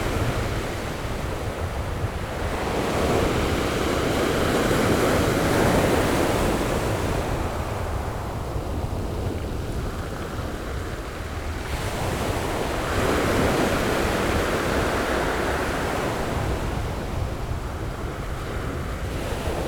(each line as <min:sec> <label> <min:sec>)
0:00.0 the waves 0:19.6